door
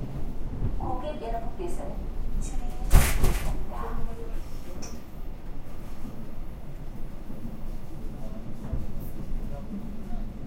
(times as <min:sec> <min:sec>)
0:02.9 0:03.6